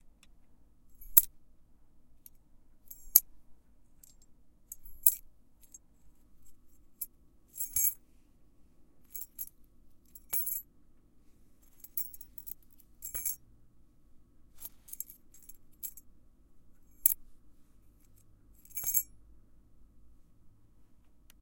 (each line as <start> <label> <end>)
2.9 key shaking, jingle 3.2
7.6 key shaking, jingle 8.0
9.2 key shaking, jingle 9.5
10.2 key shaking, jingle 10.6
11.8 key shaking, jingle 13.4
14.6 key shaking, jingle 16.0
18.6 key shaking, jingle 19.1